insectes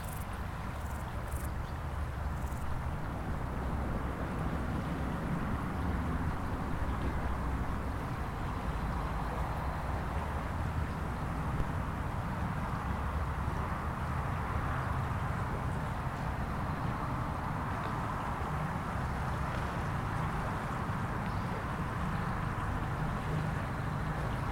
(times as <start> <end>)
0.0 2.8